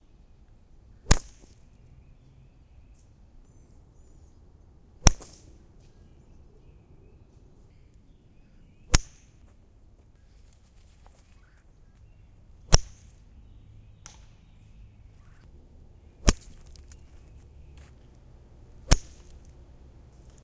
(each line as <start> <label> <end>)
1.0 Powerful golfball hits 1.6
5.0 Powerful golfball hits 5.4
8.9 Powerful golfball hits 9.3
12.6 Powerful golfball hits 13.2
16.2 Powerful golfball hits 16.8
18.7 Powerful golfball hits 19.5